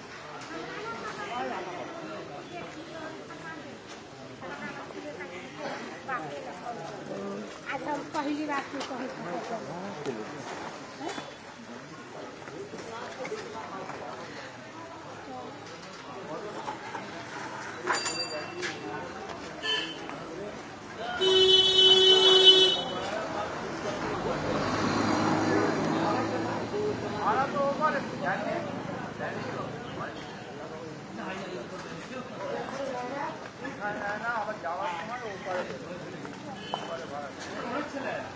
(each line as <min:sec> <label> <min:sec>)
0:00.0 people talking in street side 0:38.3
0:06.6 car bikes are moving 0:33.8
0:19.6 car horn 0:20.0
0:21.0 car horn 0:23.1